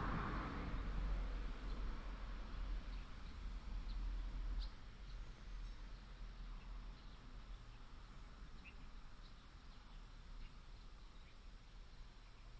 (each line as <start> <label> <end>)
0.0 Traffic sound 3.0